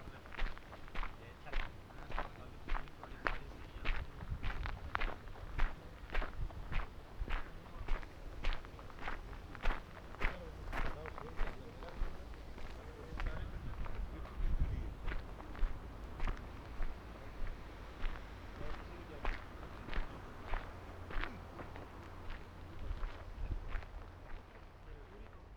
a walk on a mountain 0:00.0 - 0:25.5

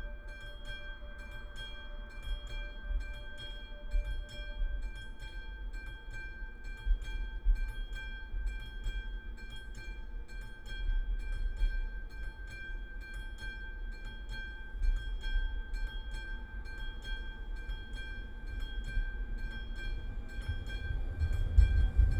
Narrow gauge electric train 0:17.6 - 0:22.1

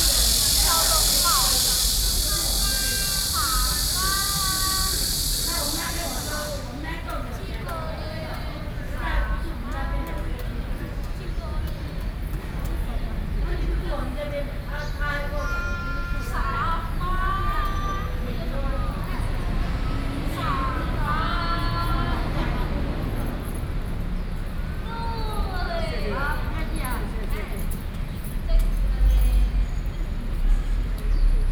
Mother and child 0:24.8 - 0:27.2

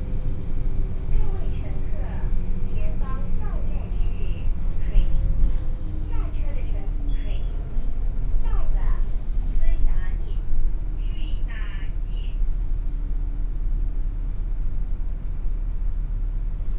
Take the bus 0:00.0 - 0:16.7
Bus message broadcast sound 0:01.0 - 0:07.7
Bus message broadcast sound 0:08.3 - 0:12.5

